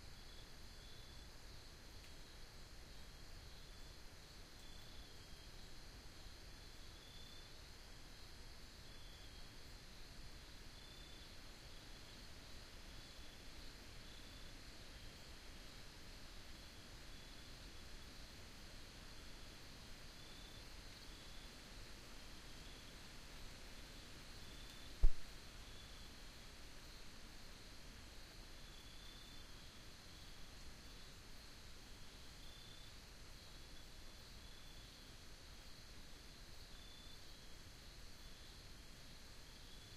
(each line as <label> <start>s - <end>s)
wind picks up, hissing through the forest 0.0s - 39.9s